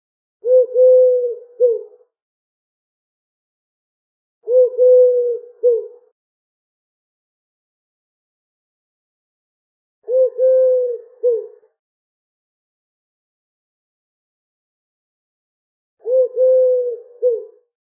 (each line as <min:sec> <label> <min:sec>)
0:00.4 chant of a common pigeon 0:02.1
0:04.5 chant of a common pigeon 0:06.2
0:10.1 chant of a common pigeon 0:11.7
0:16.0 chant of a common pigeon 0:17.7